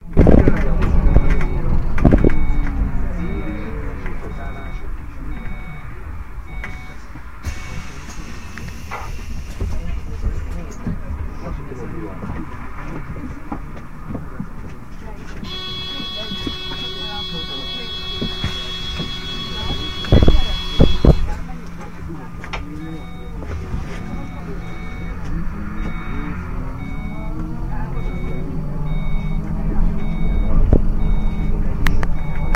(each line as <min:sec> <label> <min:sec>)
0:00.0 bus 0:32.5